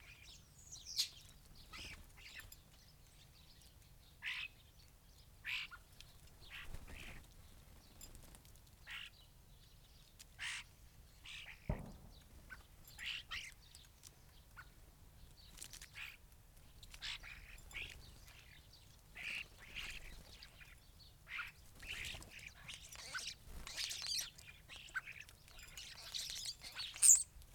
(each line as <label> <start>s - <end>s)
blackbird 0.0s - 8.2s
background noise 0.0s - 27.5s
starlings on bird feeders 0.0s - 27.5s
blackbird 8.8s - 27.5s
greenfinch 15.4s - 27.4s